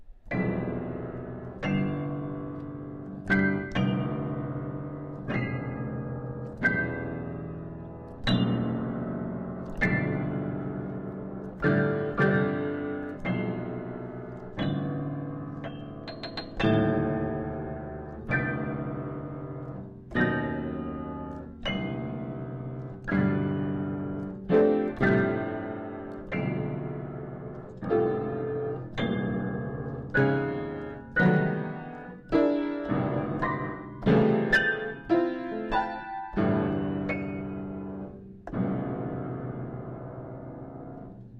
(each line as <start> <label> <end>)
0.0 Piano playing 41.3